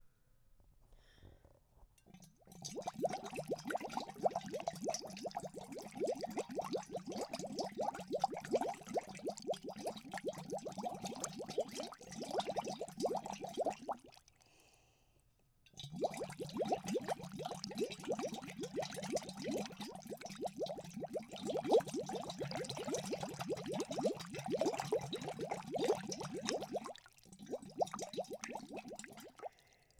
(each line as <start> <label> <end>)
0.9 slight breaths in 1.6
2.0 blowing bubbles into a metal tumbler with a plastic straw 14.5
14.4 slight breaths in 15.2
15.7 blowing bubbles into a metal tumbler with a plastic straw 29.9
29.5 slight breaths in 29.9